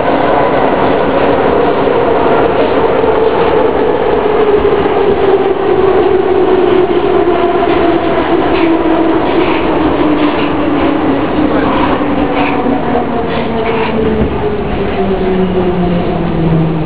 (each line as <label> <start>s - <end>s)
metro 0.0s - 16.8s